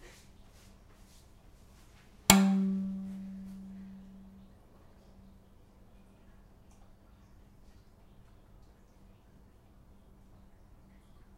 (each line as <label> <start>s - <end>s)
noisy room ambiance 0.0s - 11.3s